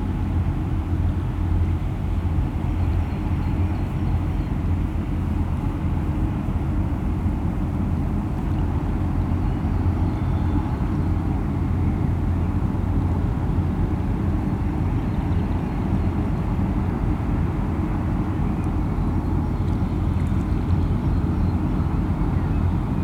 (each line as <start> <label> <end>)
0.0 Freight trains at the Rhine 23.0
0.0 large cargo ships 23.0